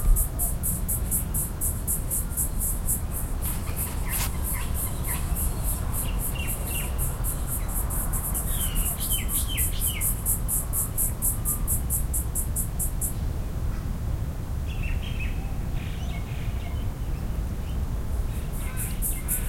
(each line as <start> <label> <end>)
0.0 birds 13.2
0.0 insects 13.4
16.1 insects 19.4